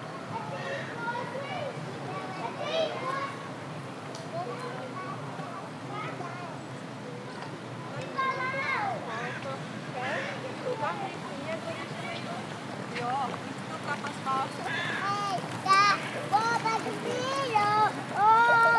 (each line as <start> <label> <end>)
0.0 Children playing 18.7
0.0 bikes passing by 18.7
4.1 people taking 18.7
9.1 birds 18.7